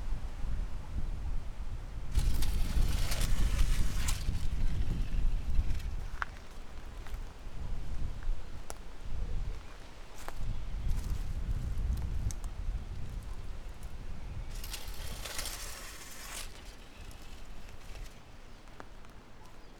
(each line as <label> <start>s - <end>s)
it made a scratching sound 2.1s - 6.5s
wilted branch floating down the levada dragging garbage 2.1s - 6.6s
wilted branch floating down the levada dragging garbage 13.8s - 19.1s
it made a scratching sound 14.5s - 18.4s